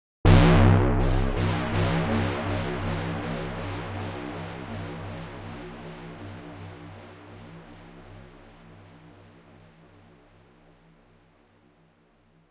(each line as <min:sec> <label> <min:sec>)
0:00.2 gong-like synth energy hit followed by an echoing pulse 0:09.0